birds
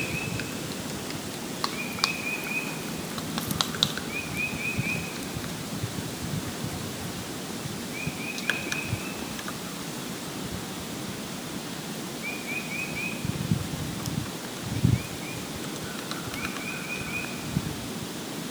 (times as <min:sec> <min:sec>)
0:00.0 0:06.0, 0:07.8 0:10.2, 0:12.2 0:17.6